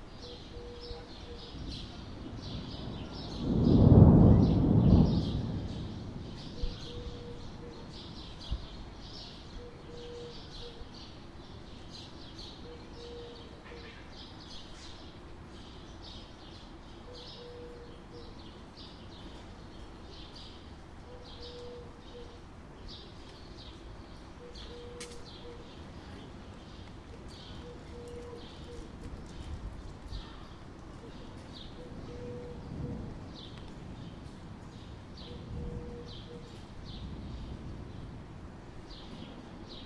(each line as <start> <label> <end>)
2.2 Rain beginning to pour 6.8